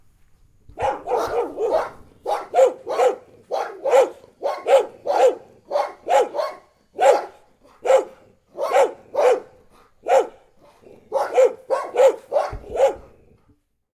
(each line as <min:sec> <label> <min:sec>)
0:00.8 Angry Dogs Barking 0:13.4